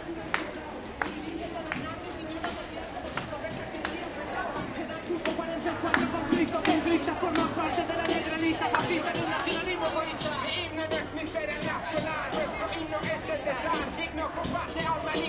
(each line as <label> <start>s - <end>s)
rap subversivo 0.0s - 15.2s
Conversaciones de la gente 1.0s - 15.2s